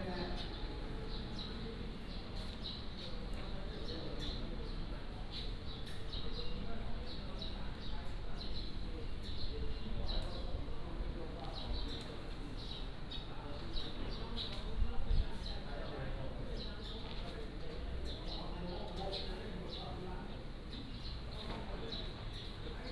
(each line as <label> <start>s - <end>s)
Birds singing 0.0s - 22.9s